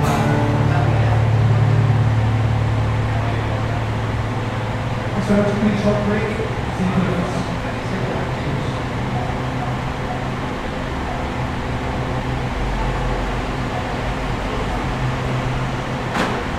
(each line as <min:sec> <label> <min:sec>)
0:00.0 live music 0:04.8
0:00.0 people walking in and out of the alley 0:05.6
0:00.0 streaming music 0:16.5
0:06.4 people walking in and out of the alley 0:16.5